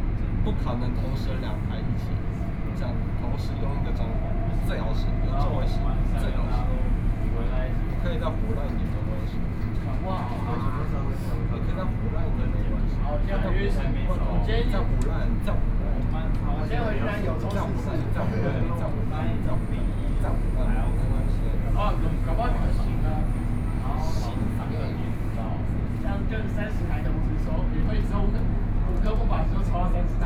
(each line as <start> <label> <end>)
0.0 Tamsui Line (Taipei Metro) 30.2